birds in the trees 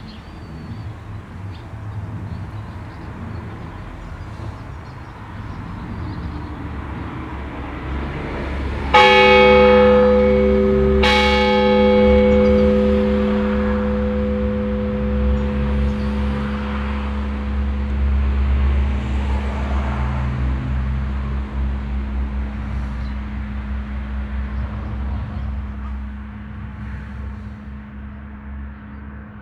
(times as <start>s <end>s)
0.0s 8.2s, 21.0s 29.2s